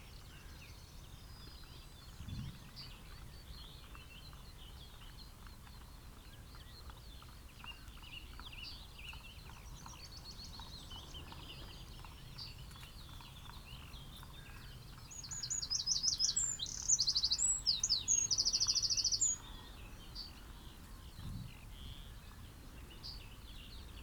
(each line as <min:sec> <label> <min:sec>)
0:06.5 blackbird 0:24.0
0:13.3 song thrush 0:20.8